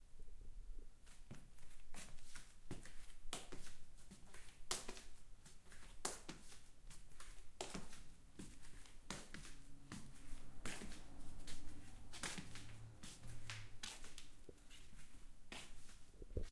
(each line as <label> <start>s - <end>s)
flipflop footsteps 1.1s - 16.5s